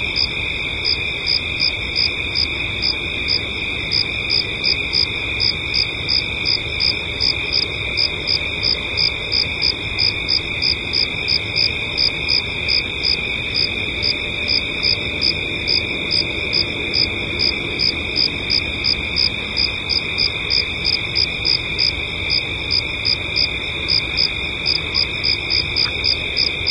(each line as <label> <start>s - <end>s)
crickets 0.0s - 26.7s